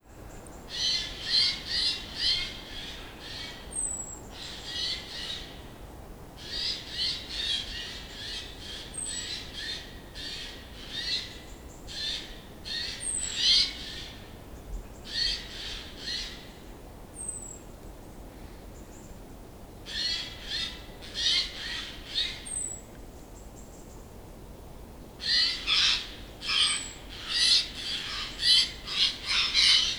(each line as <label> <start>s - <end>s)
heron 25.2s - 29.9s